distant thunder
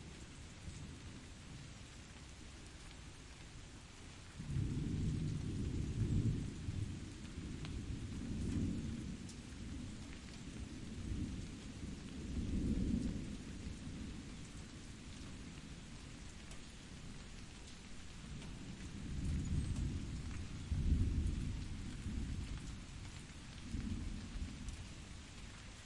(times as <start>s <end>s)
18.1s 25.1s